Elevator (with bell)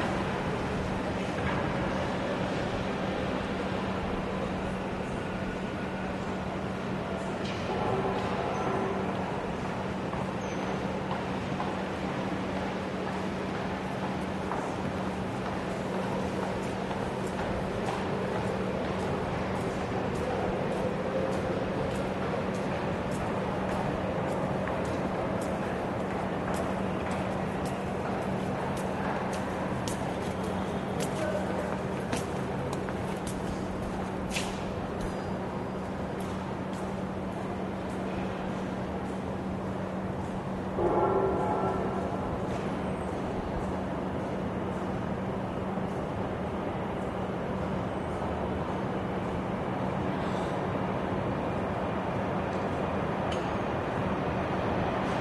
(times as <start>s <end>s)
35.1s 44.2s